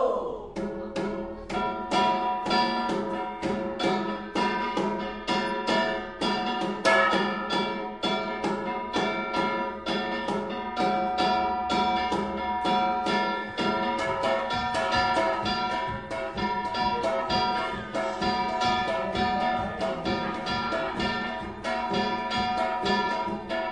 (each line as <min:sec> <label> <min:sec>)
0:00.0 gongs 0:23.7
0:00.7 drums 0:23.7
0:13.2 song 0:23.7